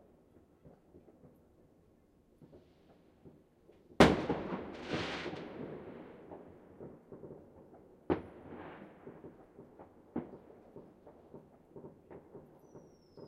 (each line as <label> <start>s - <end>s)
fireworks 2.4s - 13.2s